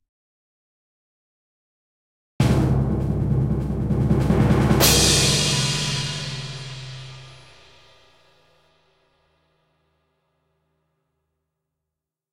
2.4s orchestral snare 8.0s
2.4s Timpani 8.1s
4.2s crashing cymbal 8.9s

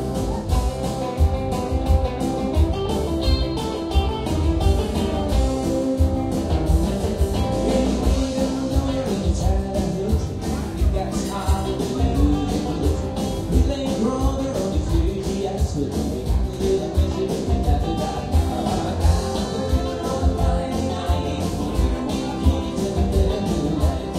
0.0s Guitar plays 24.1s
0.0s People drink and chatting 24.1s

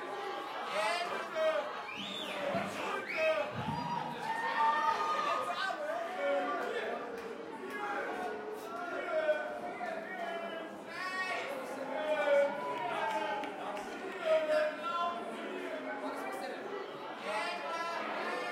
0.0s shout 15.5s
0.0s cheer 18.5s
0.0s drunk crowd 18.5s

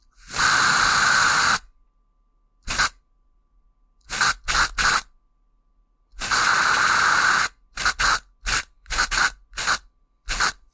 0.2s Gas Spray 1.6s
2.7s Gas Spray 3.0s
4.1s Gas Spray 5.1s
6.2s Gas Spray 10.6s

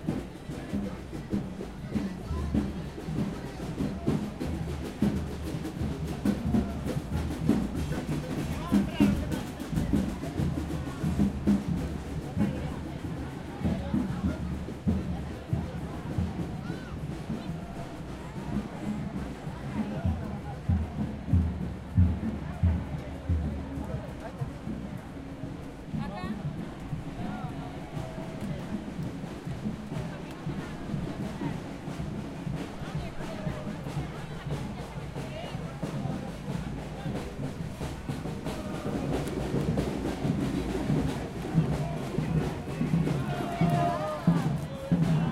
0.0s drums 45.3s

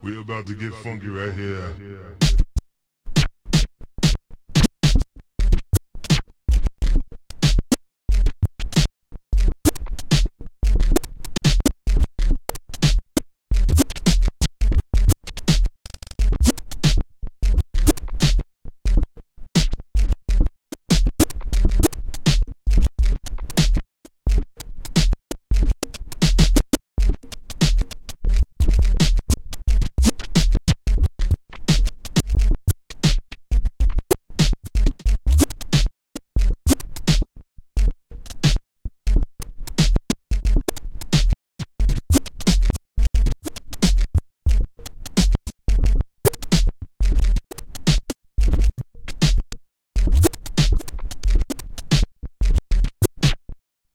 36.7s Snare 37.2s
49.2s Snare 49.4s
50.2s Snare 51.0s
53.2s Snare 53.5s

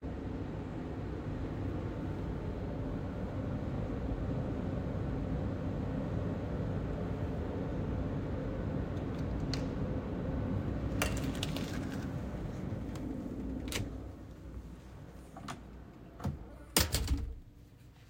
10.8s heavy-duty studio door opening and closing 14.3s
15.3s heavy-duty studio door opening and closing 17.6s

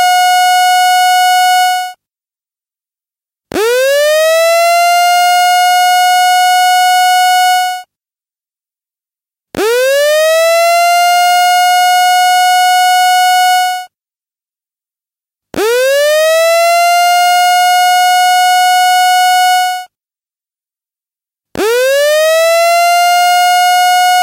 3.6s Loud Emergency Alarm 7.8s
9.6s Loud Emergency Alarm 13.9s
15.6s Loud Emergency Alarm 19.8s
21.6s Loud Emergency Alarm 24.2s

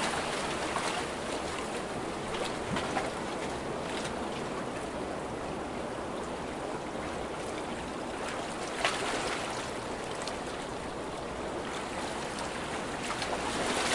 6.5s Sea waves passing through the stones 13.9s

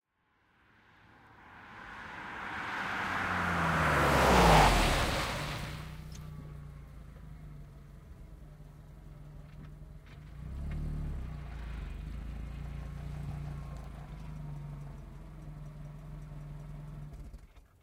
0.0s exterior passby with stop 17.8s

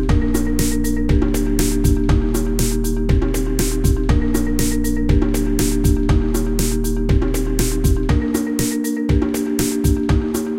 0.0s drum loop 10.5s
0.0s synth 10.5s

